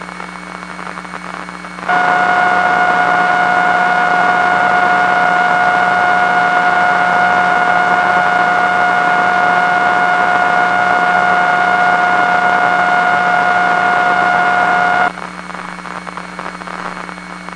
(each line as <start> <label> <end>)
0.0 hum 17.5
0.0 whine 17.5
1.9 Computer noise 15.1